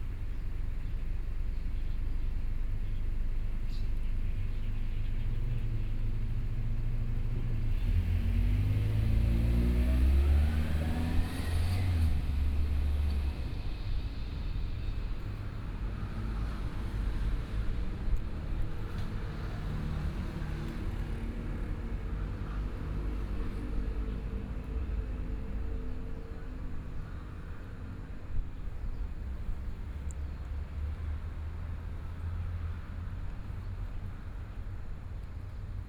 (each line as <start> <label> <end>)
7.2 Traffic Sound 35.8